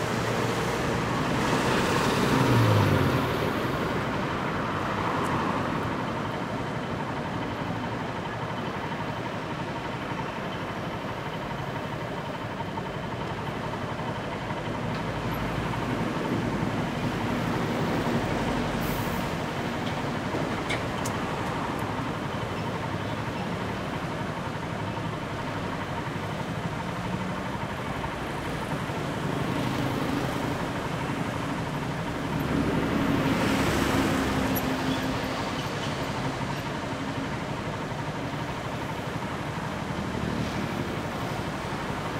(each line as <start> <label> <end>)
0.0 Engine 42.1
0.0 Traffic 42.1
0.0 truck 42.1